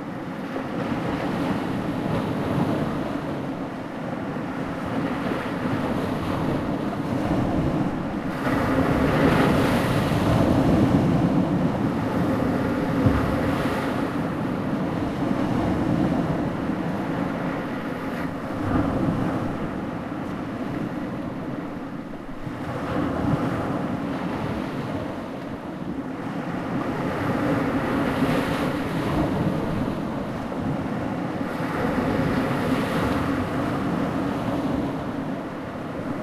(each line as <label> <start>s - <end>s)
waves on the rocky seashore 0.0s - 36.2s